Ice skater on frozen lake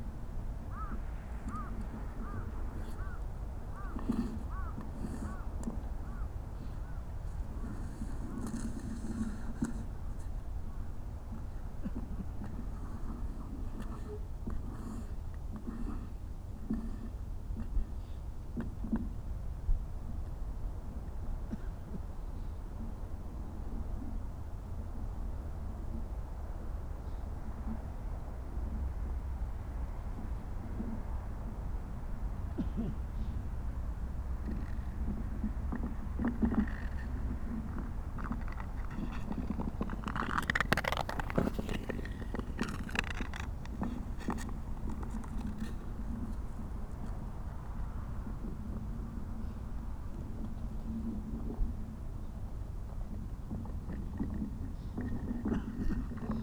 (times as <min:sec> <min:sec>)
0:34.4 0:47.3